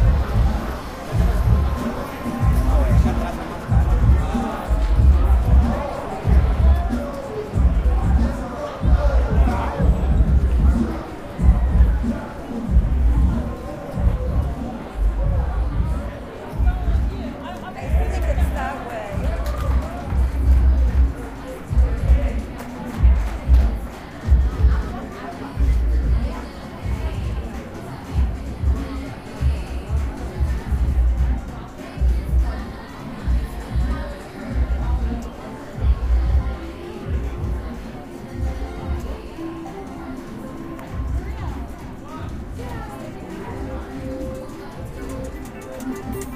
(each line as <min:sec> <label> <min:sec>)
0:44.1 slot machines 0:46.3